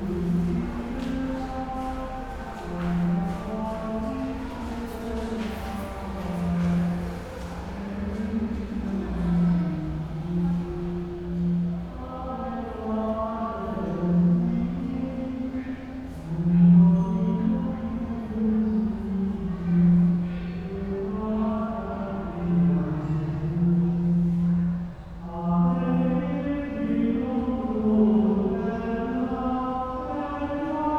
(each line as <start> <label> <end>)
0.0 church sings at night 30.9